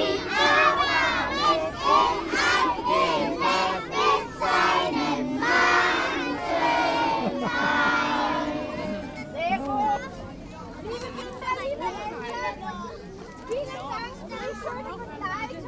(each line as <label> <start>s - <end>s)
singing traditional songs 0.0s - 9.4s